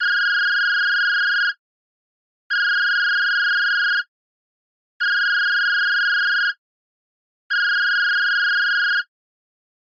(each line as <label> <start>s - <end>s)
Phone Ringing 0.0s - 1.6s
Phone Ringing 2.5s - 4.1s
Phone Ringing 5.0s - 6.6s
Phone Ringing 7.5s - 9.1s